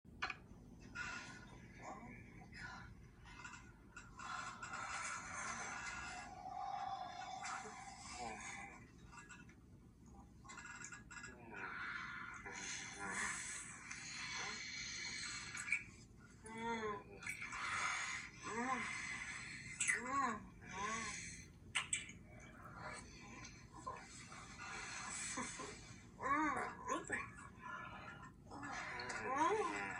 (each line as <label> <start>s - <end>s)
moaning 10.0s - 29.9s
kissing 21.7s - 22.2s